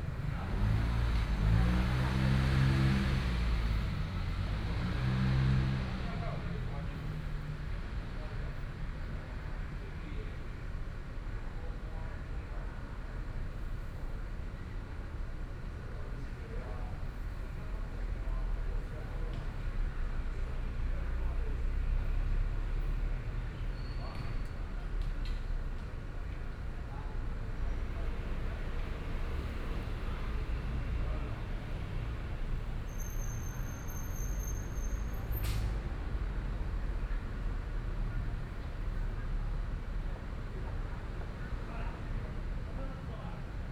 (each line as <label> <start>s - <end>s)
Traffic Sound 0.0s - 8.9s
Traffic Sound 16.3s - 43.7s